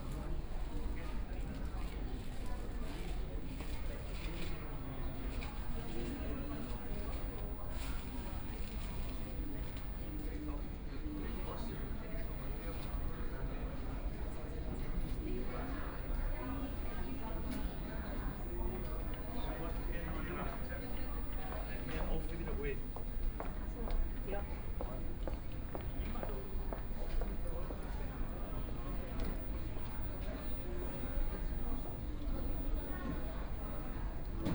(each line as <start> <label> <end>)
0.0 A lot of tourists 34.5